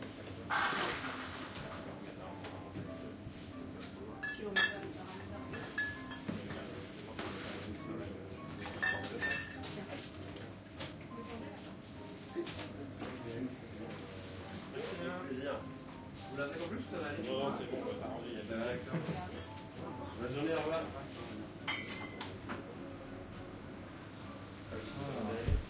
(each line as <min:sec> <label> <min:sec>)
0:00.0 jazzy background music 0:25.6